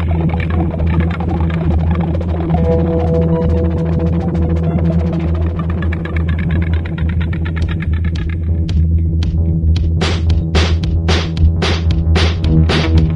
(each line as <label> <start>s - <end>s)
sampler feedback 0.0s - 8.5s